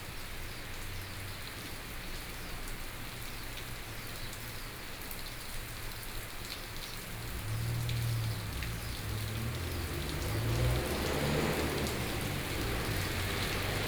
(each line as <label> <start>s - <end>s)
Rainy weather 0.0s - 13.8s
Traffic Sound 7.0s - 13.8s